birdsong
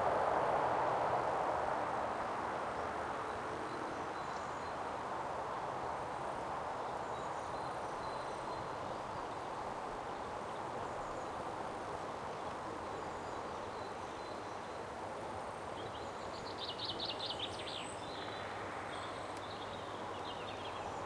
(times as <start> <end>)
6.8 11.5, 15.6 21.0